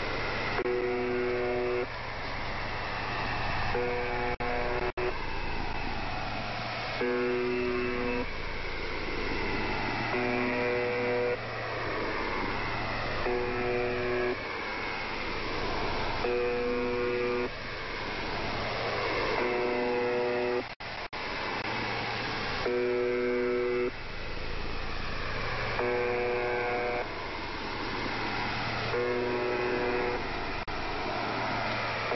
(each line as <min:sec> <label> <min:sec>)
0:00.0 The Buzzer 0:01.9
0:03.7 The Buzzer 0:05.2
0:06.9 The Buzzer 0:08.4
0:09.6 The Buzzer 0:14.4
0:15.6 The Buzzer 0:17.6
0:18.7 The Buzzer 0:20.7
0:22.6 The Buzzer 0:24.0
0:25.6 The Buzzer 0:27.1
0:28.0 The Buzzer 0:30.4
0:31.4 The Buzzer 0:32.1